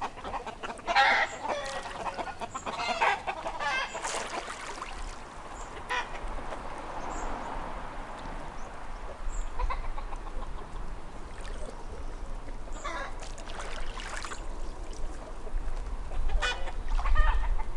0.0s chickens 4.3s
0.0s birds 17.7s
9.4s chickens 10.9s
16.1s chickens 17.7s

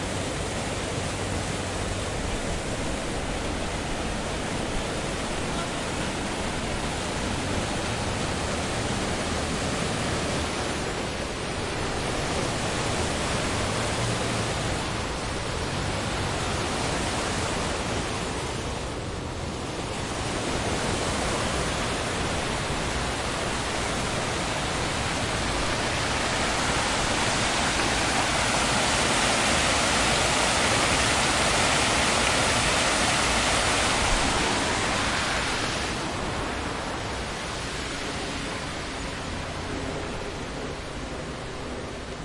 0.0s waterfall 42.2s

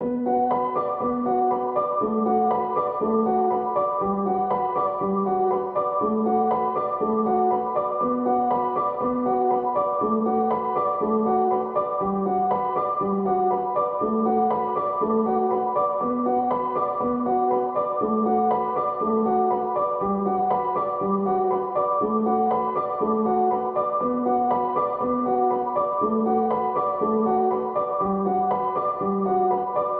0.0s piano 29.9s

